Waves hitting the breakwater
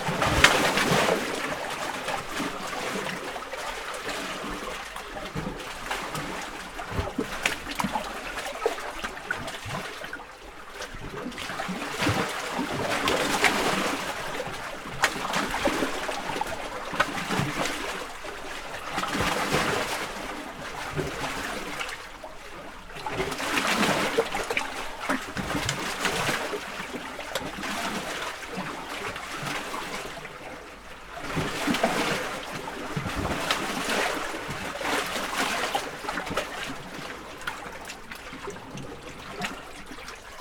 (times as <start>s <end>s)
0.0s 8.7s